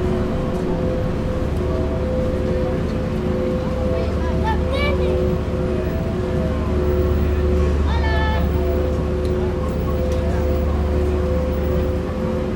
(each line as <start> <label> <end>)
0.0 subway 12.5
0.0 tourists 12.5